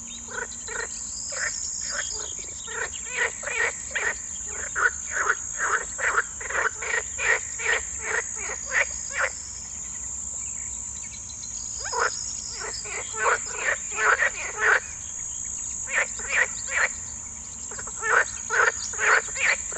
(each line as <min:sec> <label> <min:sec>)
0:00.0 crickets 0:19.7
0:00.0 frogs 0:19.7
0:00.0 Cettis warbler 0:19.7